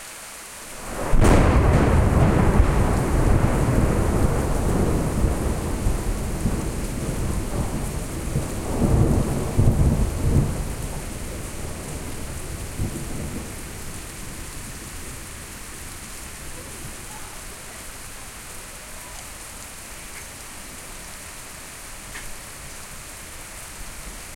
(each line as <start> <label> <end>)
0.8 very loud and impressive thunder cracks 15.2